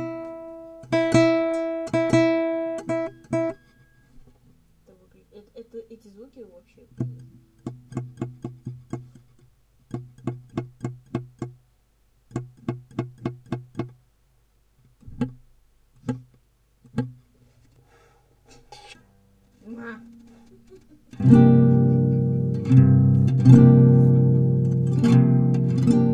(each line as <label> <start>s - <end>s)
guitar improvisation 0.0s - 4.3s
guitar improvisation 6.8s - 11.6s
guitar improvisation 12.3s - 14.0s
guitar improvisation 14.9s - 17.7s
guitar improvisation 18.5s - 26.1s